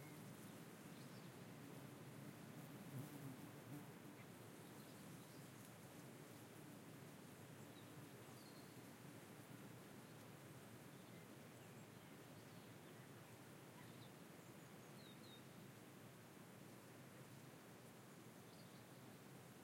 0.0s fly 7.0s
0.0s wind 19.6s
13.8s bird 15.5s

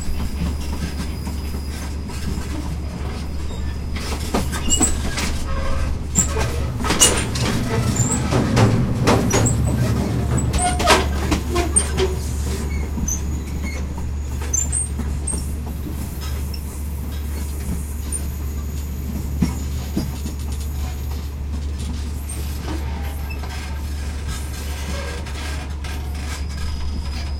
0.0s Thai train departing from the train station 27.3s
4.5s metal squeals and hits 14.8s

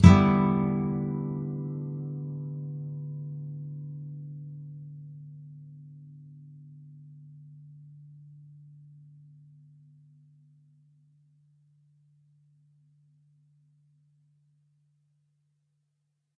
0.0s nylon guitar 9.7s

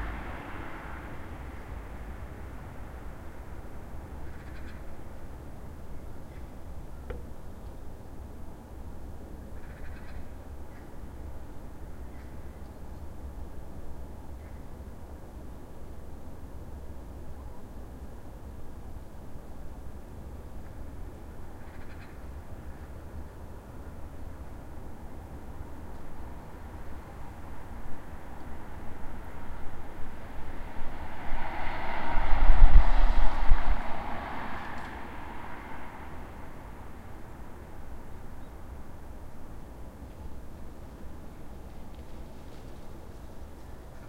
0.0s few passing cars 9.4s
4.2s bird 4.9s
9.5s bird 11.0s
19.8s few passing cars 44.0s
21.6s bird 22.9s

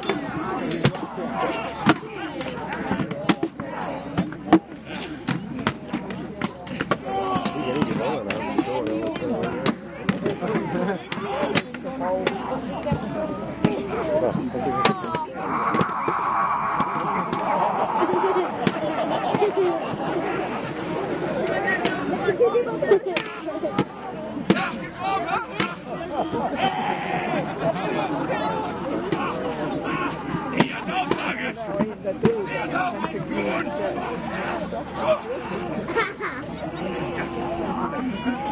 0.0s viking battle 22.2s
0.0s crowd 38.5s
14.6s yelling 20.6s
17.6s laughter 20.3s
35.8s laughter 36.6s

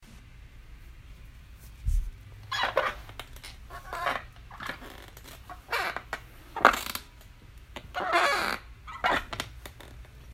2.4s Squeaky Chair 7.1s
7.8s Squeaky Chair 10.1s

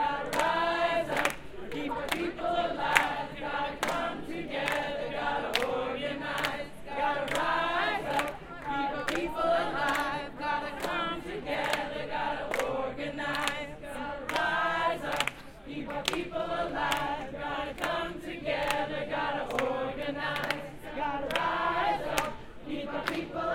0.0s chant 23.5s

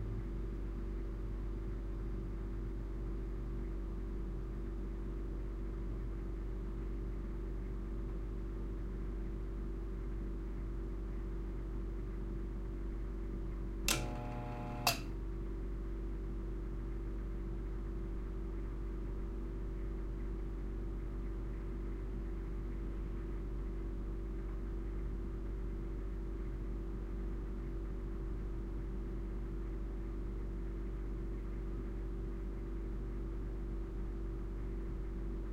0.0s low-level fridge 35.5s
13.9s pulsating compressor click on with false starts 15.1s

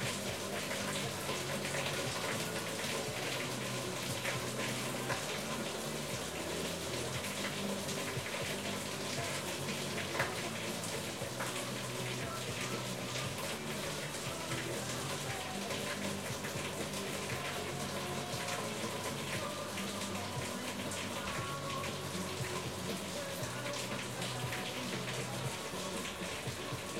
0.0s rain 26.9s

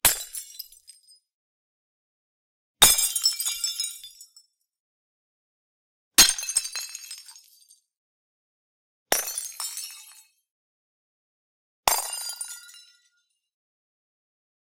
0.1s Smashing beer bottles and other glass objects on concrete floor 1.2s
2.8s Smashing beer bottles and other glass objects on concrete floor 4.4s
6.2s Smashing beer bottles and other glass objects on concrete floor 7.8s
9.1s Smashing beer bottles and other glass objects on concrete floor 10.4s
11.9s Smashing beer bottles and other glass objects on concrete floor 13.1s

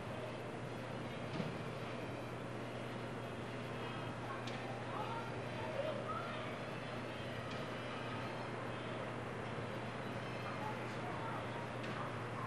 2.9s people 12.4s

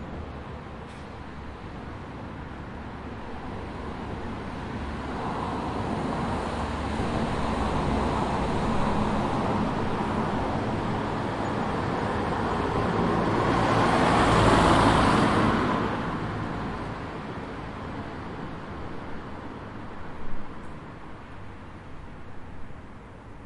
0.0s cars passing by 23.4s

